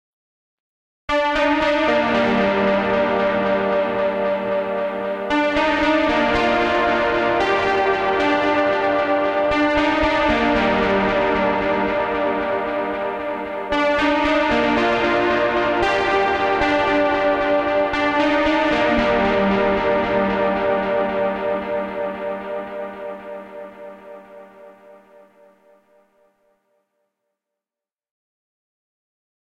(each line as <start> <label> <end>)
1.1 Synth Lead 24.6